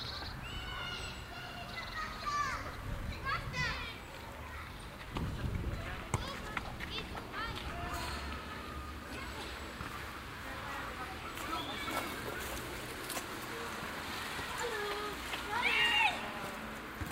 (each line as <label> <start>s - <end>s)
kids playing on the streets 0.0s - 17.1s
traffic 0.0s - 17.1s